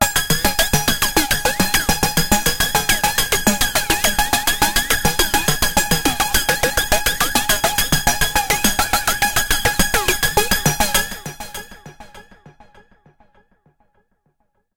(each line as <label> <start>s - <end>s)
arpeggiated loop 0.0s - 11.6s